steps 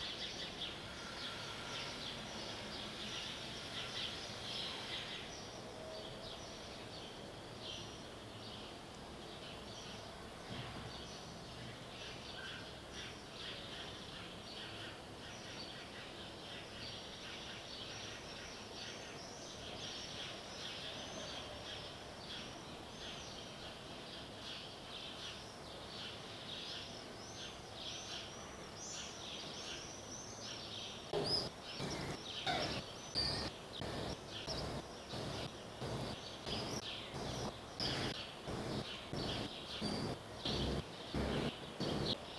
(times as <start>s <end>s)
31.2s 42.2s